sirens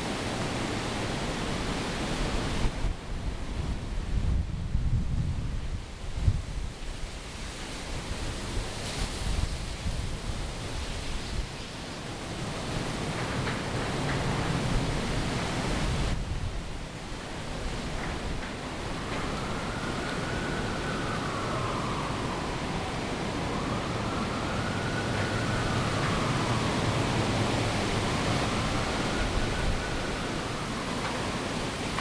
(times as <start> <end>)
17.2 32.0